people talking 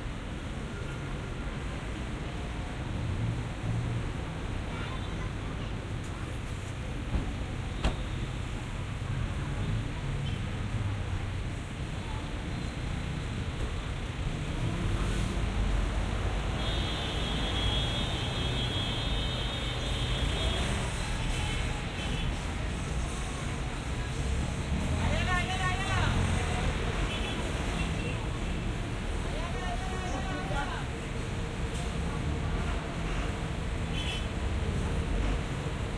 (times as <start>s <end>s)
29.2s 31.0s